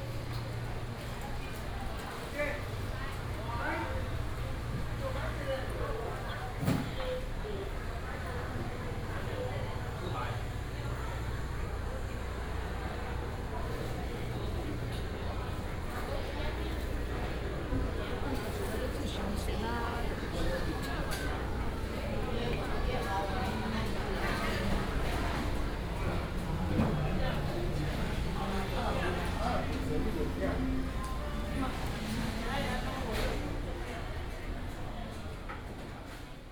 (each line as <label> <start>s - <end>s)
Walking through the market 0.0s - 36.5s